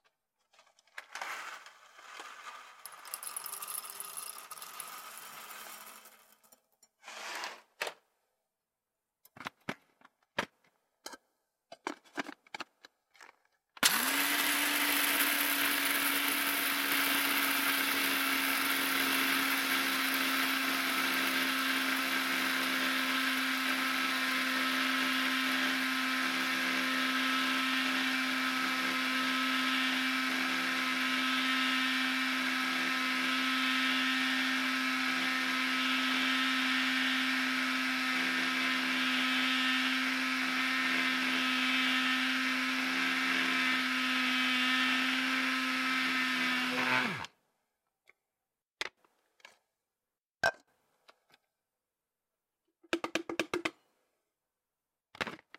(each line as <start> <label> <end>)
0.6 coffee grinder operating 7.6
1.2 coffee beans being poured into a coffee grinder 6.6
1.2 ground coffee being poured into a container 6.6
13.2 coffee grinder operating 47.3